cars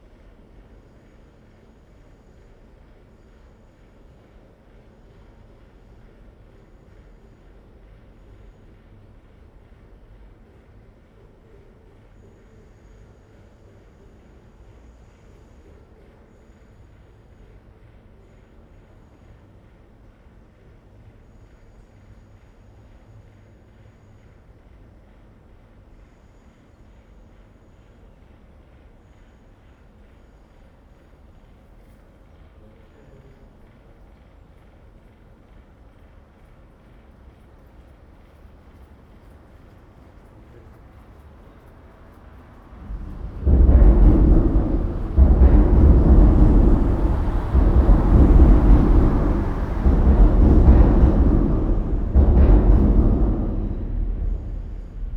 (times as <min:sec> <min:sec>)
0:40.9 0:55.1